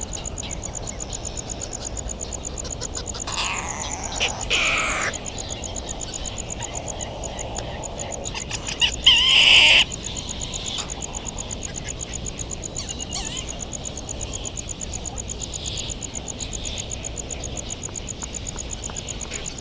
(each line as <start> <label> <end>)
0.0 a cricket ticks away the seconds 19.6
2.5 flight calls and calls from bonin petrels 12.0
3.0 calls from white terns 5.5